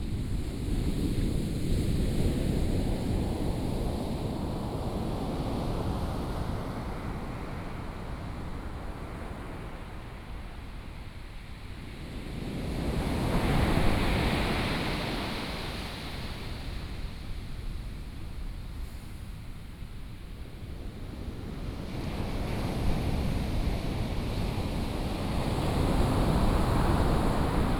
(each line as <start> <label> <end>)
23.9 waves 27.7